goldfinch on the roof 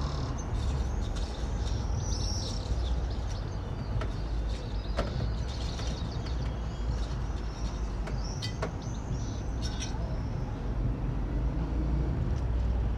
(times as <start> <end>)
0.0 10.4